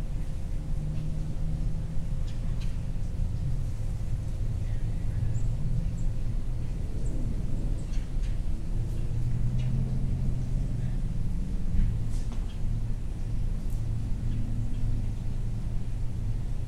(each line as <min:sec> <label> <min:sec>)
0:00.0 vehicles 0:16.6
0:04.0 birds 0:10.1
0:12.1 birds 0:16.0